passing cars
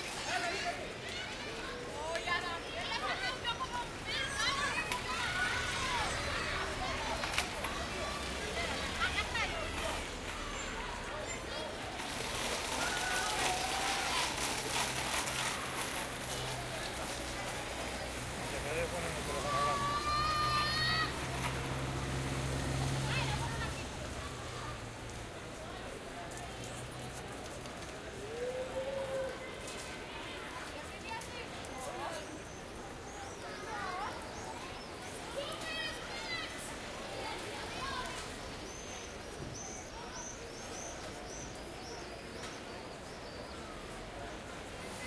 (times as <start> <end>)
3.6 28.4